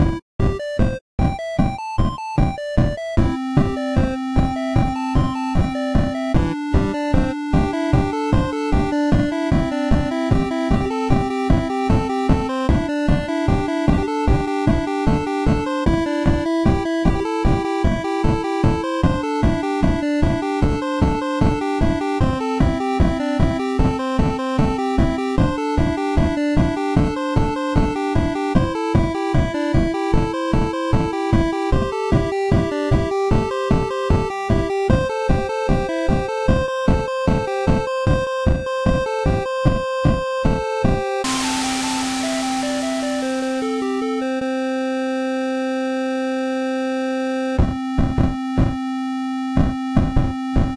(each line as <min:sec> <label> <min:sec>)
0:00.4 Pixel Song 0:39.4
0:41.2 Pixel Song 0:47.5